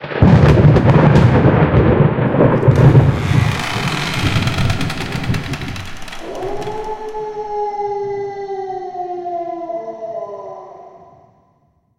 2.3s werewolf 10.5s

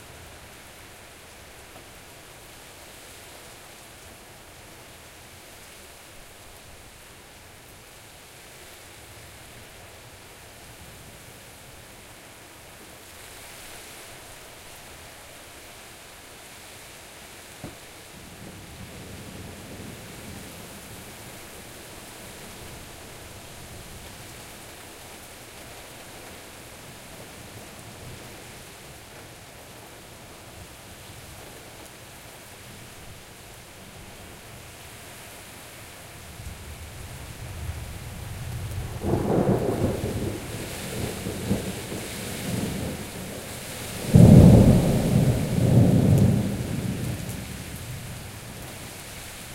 0.0s pouring rain 49.5s

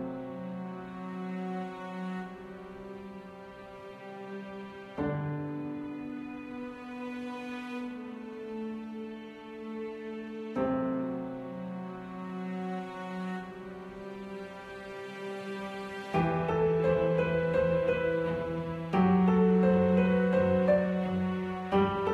0.0s Piano 22.1s
0.0s String 22.1s

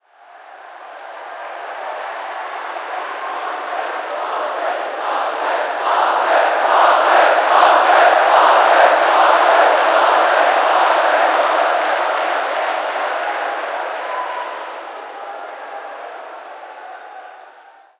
0.0s Crowd Cheering 17.9s

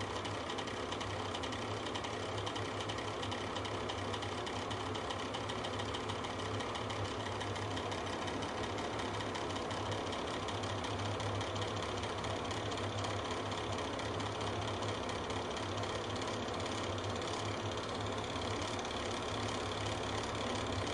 0.0s vent fan on 20.9s

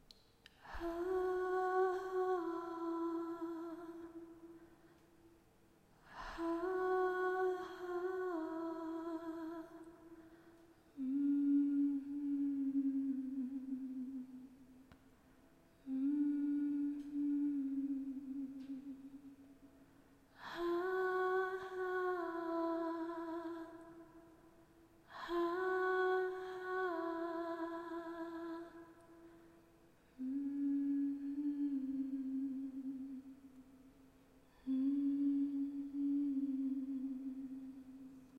0.6s voice humming to a soft tone 5.0s
6.0s voice humming to a soft tone 14.8s
15.8s voice humming to a soft tone 19.4s
30.0s voice humming to a soft tone 33.7s
34.4s voice humming to a soft tone 38.3s

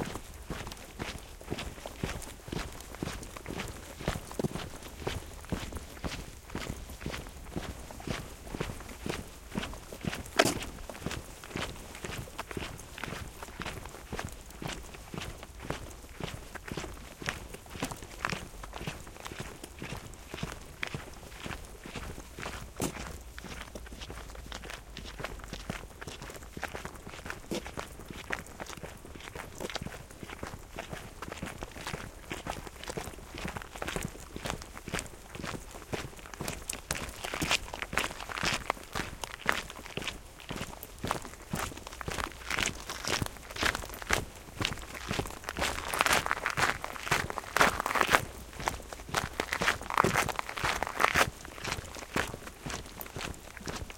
0.0s people marching over the desert or on dirt 53.9s

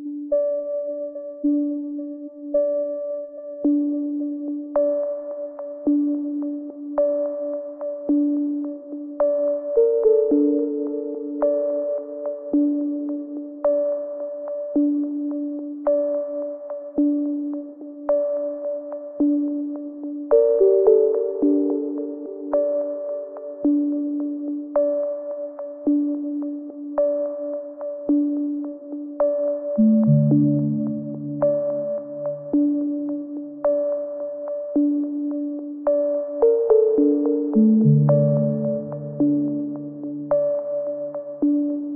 29.2s synth pads 34.0s

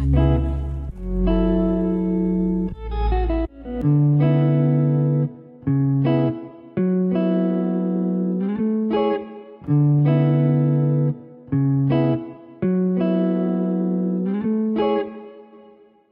0.0s synth 3.6s
0.0s bass 6.4s
0.0s guitar 16.1s

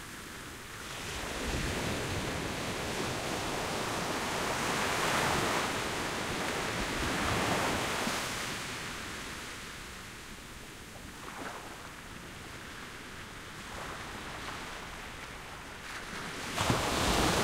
14.0s sandy shore break 17.4s

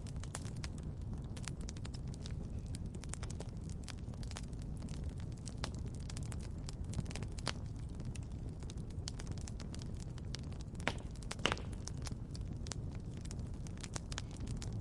0.0s campfire 14.8s

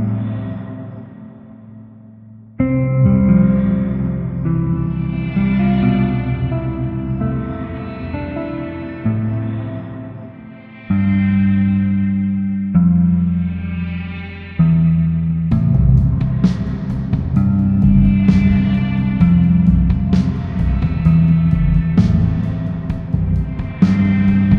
0.0s guitar 24.5s
0.0s strings 24.5s
2.6s piano 12.3s
15.5s drums 24.5s
15.5s piano 24.5s

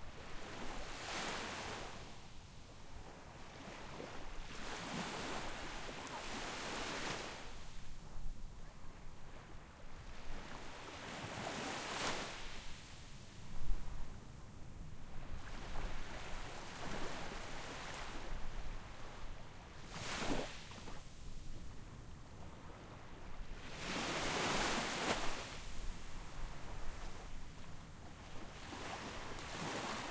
3.0s small waves that wash up on shore 7.8s
10.0s small waves that wash up on shore 12.9s
15.3s small waves that wash up on shore 21.3s
22.6s small waves that wash up on shore 30.1s

